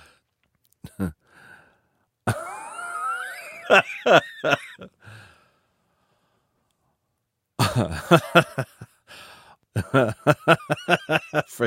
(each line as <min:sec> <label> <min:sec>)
0:00.8 man laughing 0:01.2
0:02.3 man laughing 0:04.9
0:07.6 man laughing 0:09.0
0:09.8 man laughing 0:11.6